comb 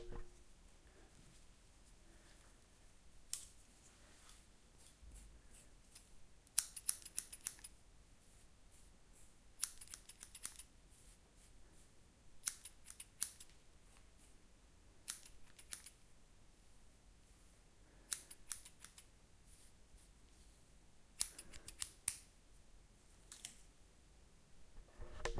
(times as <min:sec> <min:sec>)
0:03.2 0:06.1